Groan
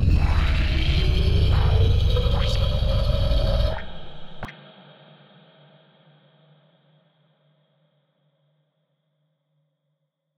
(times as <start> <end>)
0.0 4.5